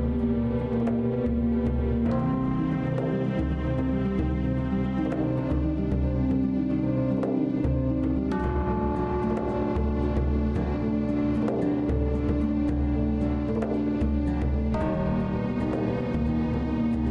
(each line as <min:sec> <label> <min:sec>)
0:00.0 strings 0:17.1